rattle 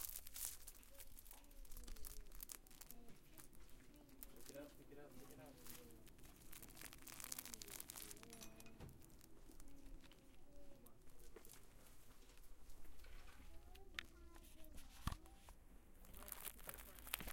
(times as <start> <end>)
5.8 10.2